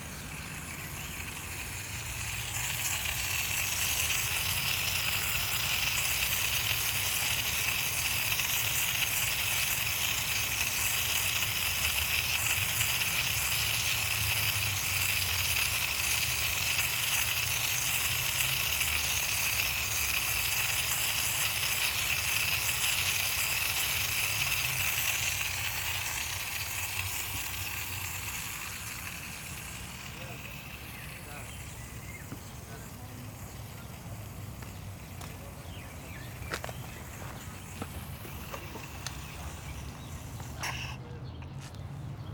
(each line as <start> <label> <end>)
0.0 watering devices 42.3